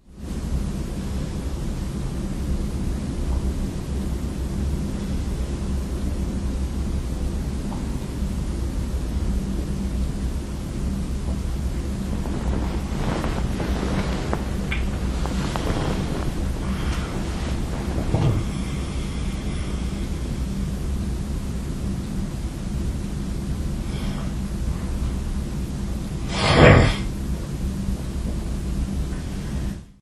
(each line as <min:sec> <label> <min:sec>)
0:03.0 Moving while I sleep 0:29.9
0:18.4 breath 0:20.2
0:23.8 breath 0:24.4